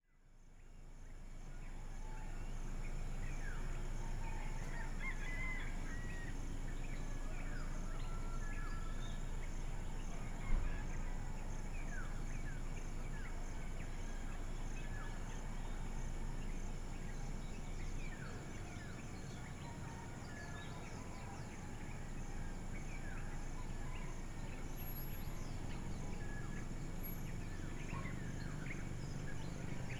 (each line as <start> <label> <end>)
0.1 crickets 29.9
0.1 cicadas 29.9
0.2 distant fishermen’s motorboats 29.9
0.2 dawn chorus from local birds 29.9
4.1 roosters 9.0